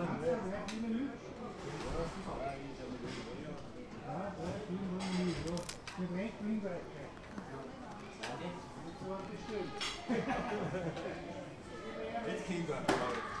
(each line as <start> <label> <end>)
0.0 conversation of the guests 13.4
1.5 clutter of the plates, cutlery 3.7
4.4 clutter of the plates, cutlery 6.0
9.7 clutter of the plates, cutlery 10.4